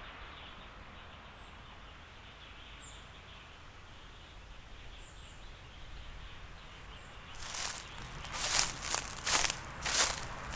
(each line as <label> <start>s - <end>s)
Stepping on leaves 6.8s - 10.5s
Birds singing 7.4s - 10.5s
Traffic Sound 7.4s - 10.5s